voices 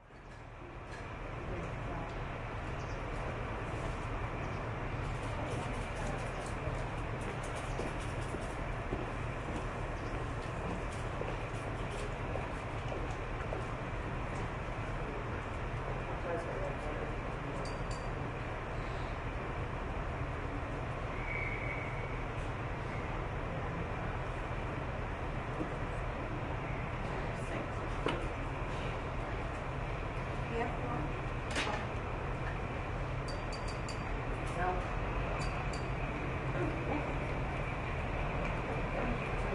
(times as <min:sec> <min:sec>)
0:33.9 0:39.5